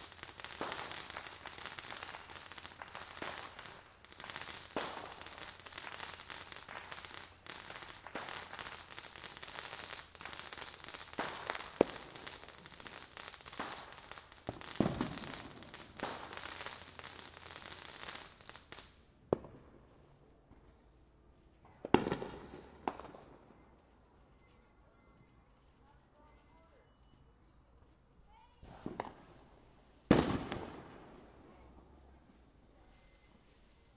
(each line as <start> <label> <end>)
0.0 crackly fountain sparklers 19.0